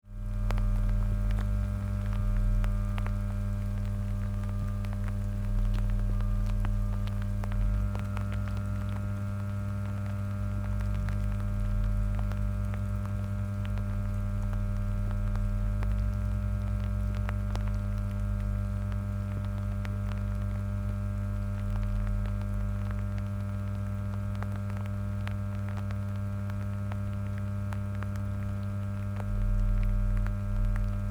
0.0s small transformer next to the larger oddly makes a deeper hum 31.1s
0.1s spattering rain 31.1s

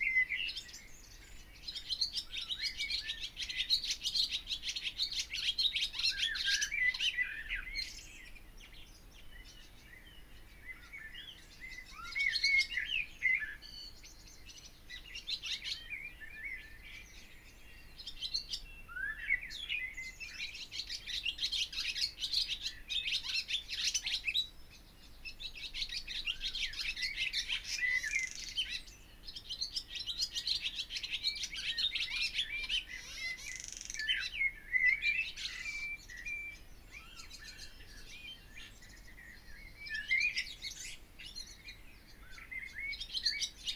0.0s bird singing on the guttering 43.7s
0.0s blackbird 43.7s
0.0s song thrush 43.7s

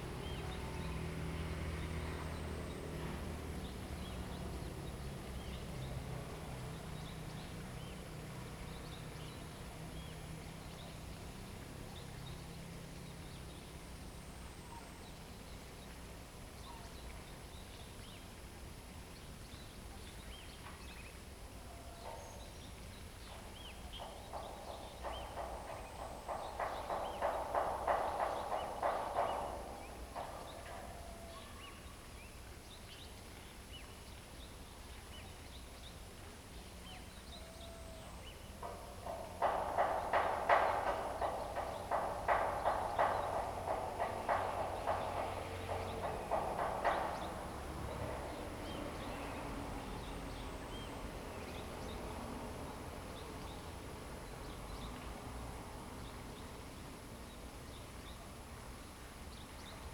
0.0s traffic sound 19.4s
20.2s traffic sound 59.9s
23.3s construction percussion 31.3s
38.5s construction percussion 56.0s

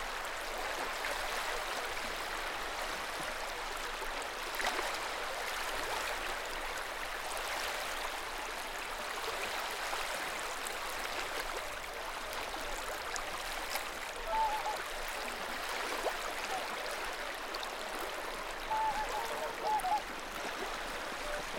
0.0s waves 21.5s
0.0s wind 21.5s
12.3s swans 21.5s

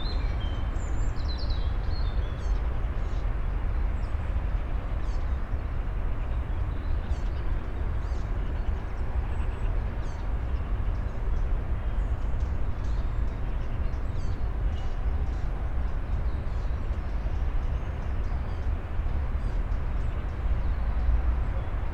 0.0s hum and drone of cars and other vehicles 21.9s

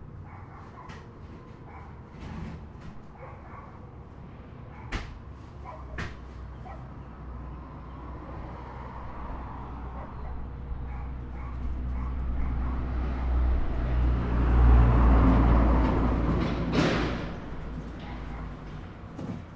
0.1s dogs 4.0s
4.7s dogs 7.1s
9.9s dogs 13.9s
15.8s dogs 19.5s

